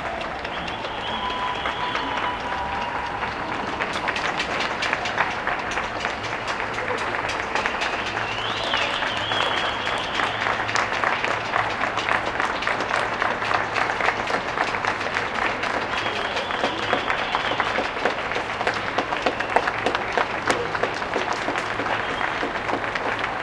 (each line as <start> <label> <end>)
0.0 Applausses 12.8
0.0 Cheers 23.4